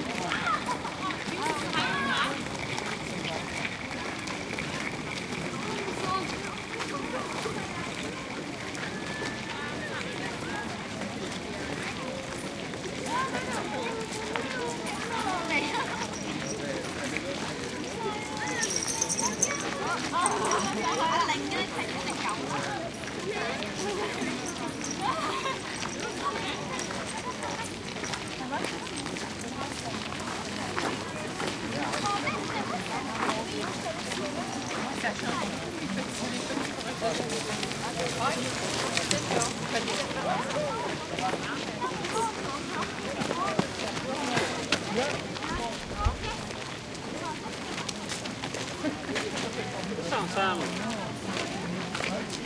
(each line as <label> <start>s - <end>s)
footsteps medium crowd ext gravel 0.0s - 52.4s